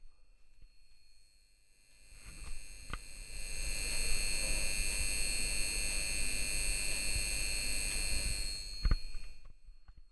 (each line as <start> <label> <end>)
0.0 malfunctioning light bulb 10.0